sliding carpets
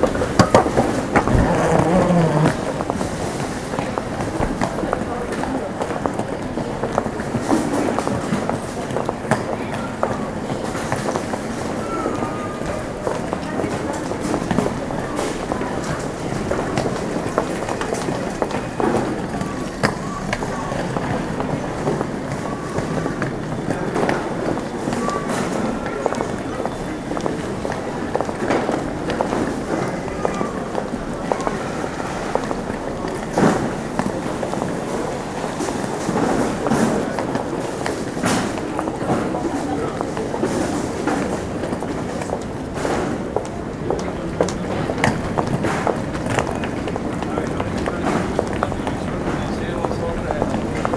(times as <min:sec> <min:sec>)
0:00.0 0:03.6